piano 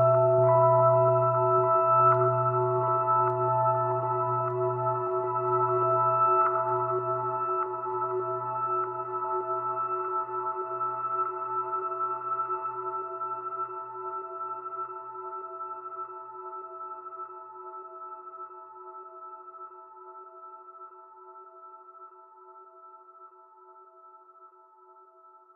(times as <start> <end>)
0.0 17.0